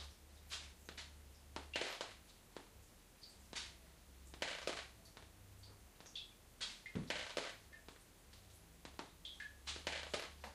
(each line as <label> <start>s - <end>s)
rain leaking through the glass roof 0.0s - 10.5s